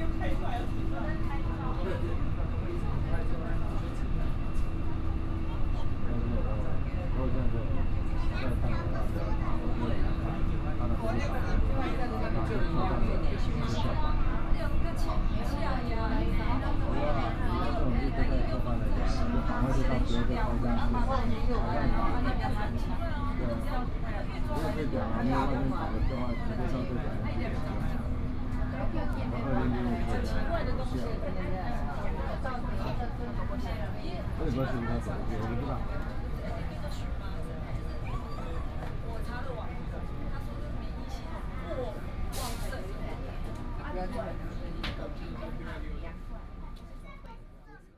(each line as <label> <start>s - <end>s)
passengers quarrel disputes 0.0s - 47.6s
people chatting inside 0.0s - 47.9s